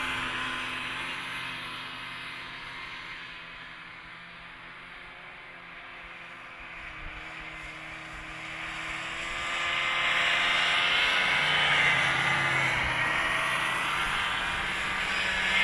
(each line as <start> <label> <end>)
0.0 snowmobiles pass by nearish 15.6